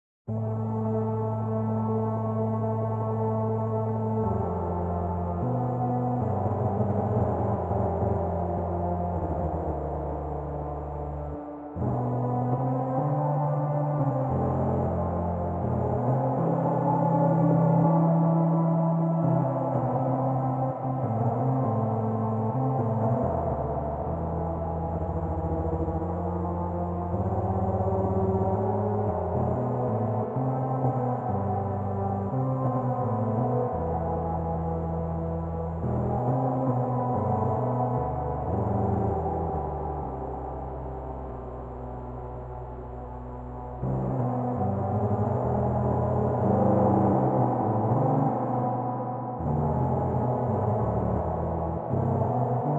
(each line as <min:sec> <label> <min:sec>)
0:00.3 Weird Microtonal Organ-Flute-Synth 0:52.7